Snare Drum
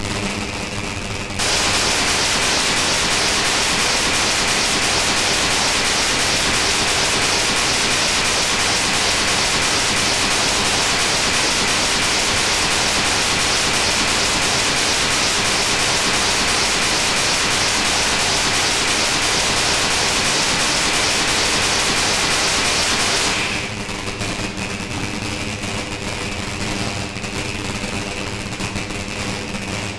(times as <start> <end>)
1.4 24.4